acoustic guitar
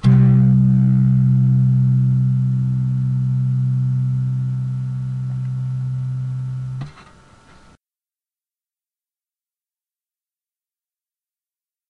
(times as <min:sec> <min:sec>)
0:00.0 0:06.8